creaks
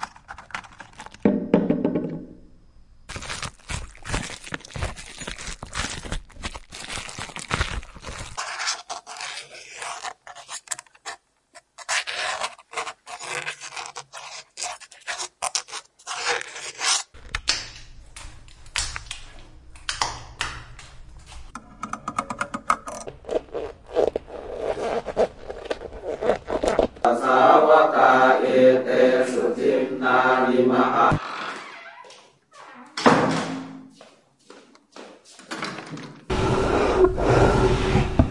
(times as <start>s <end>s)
31.2s 33.0s